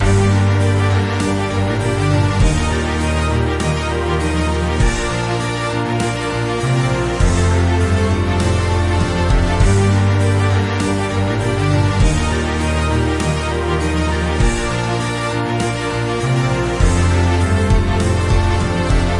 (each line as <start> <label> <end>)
0.0 drums 19.1
0.0 orchestra 19.1